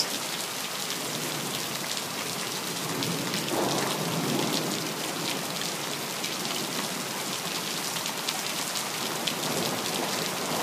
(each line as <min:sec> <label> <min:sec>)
0:00.0 heavy rain 0:10.6
0:03.4 frequent thunder 0:04.6